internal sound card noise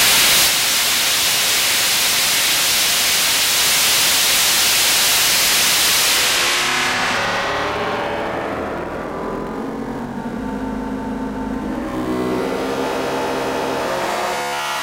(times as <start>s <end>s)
6.3s 14.5s